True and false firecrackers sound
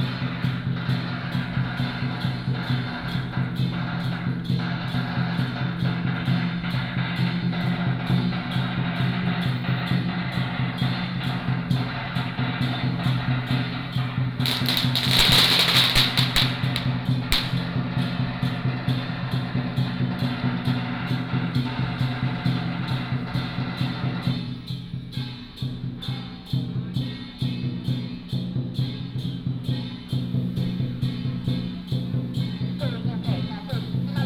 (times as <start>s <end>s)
14.2s 18.2s